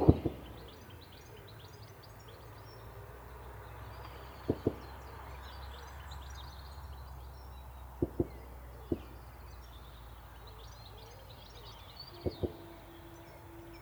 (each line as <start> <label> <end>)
0.0 Army Tankfire 0.6